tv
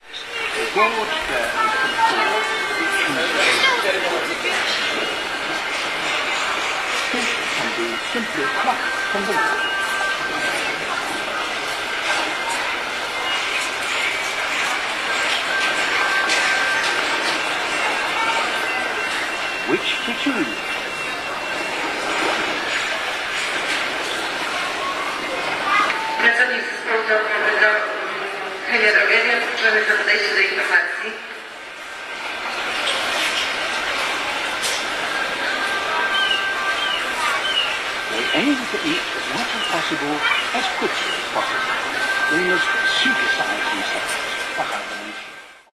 32.0 45.7

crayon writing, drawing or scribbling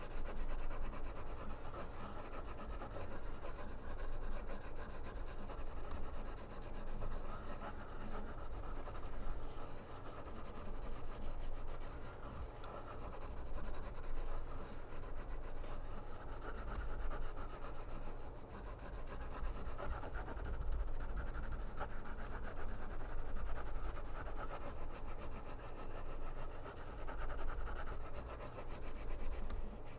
0.2 17.8

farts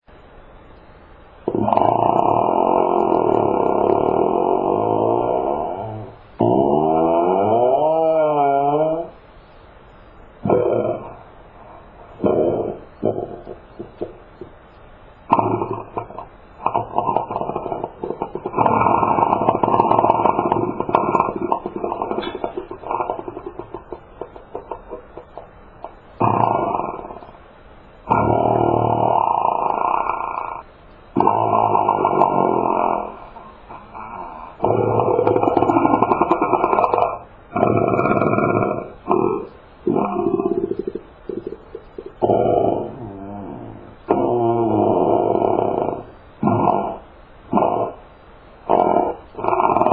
1.5 9.1, 15.3 25.4, 34.6 48.0, 48.7 49.9

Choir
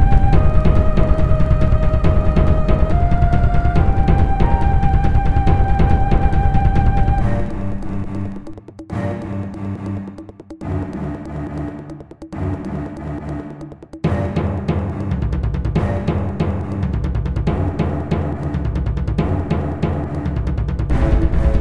20.9 21.6

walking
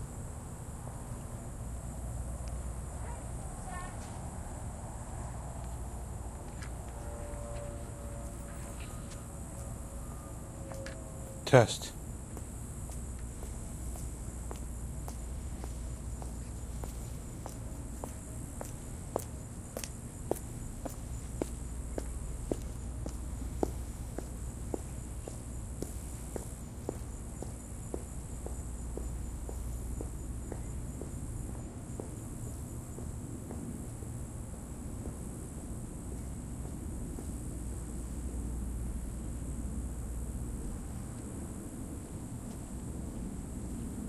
5.6 38.3

